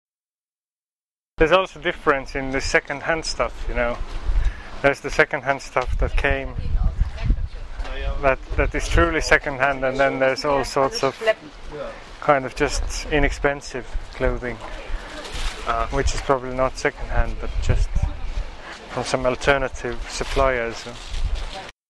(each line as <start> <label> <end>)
1.4 conversation 21.7